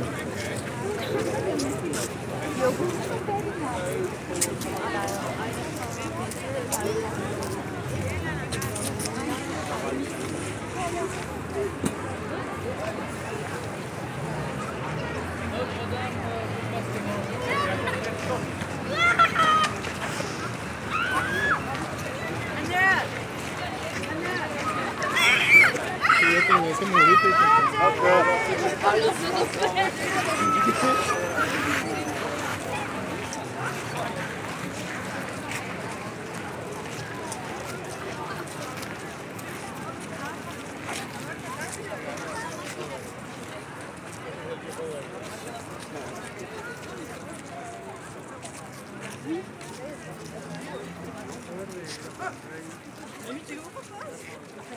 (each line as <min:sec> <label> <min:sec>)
0:00.0 tourists waiting in front of the Notre-Dame cathedral 0:54.7
0:18.9 people joking 0:19.8
0:25.6 people joking 0:32.4